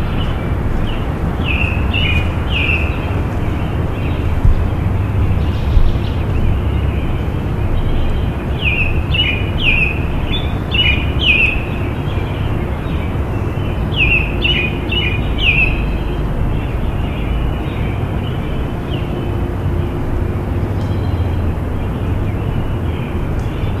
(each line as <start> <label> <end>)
0.0 birds chirping 23.8